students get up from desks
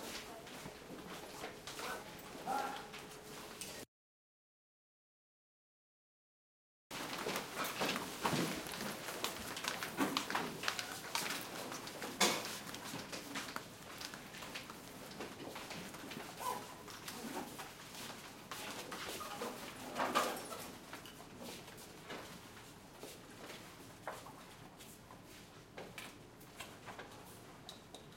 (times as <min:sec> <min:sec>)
0:06.9 0:27.9